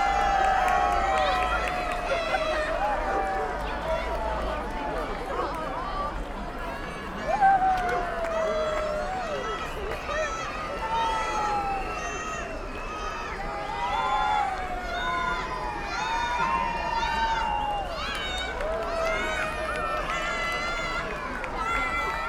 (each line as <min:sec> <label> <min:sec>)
0:00.0 People are applauding 0:05.8
0:07.2 People are applauding 0:10.2
0:16.4 People are applauding 0:22.2